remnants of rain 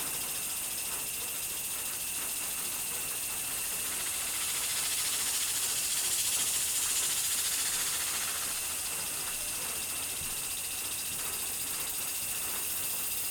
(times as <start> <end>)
3.8 10.2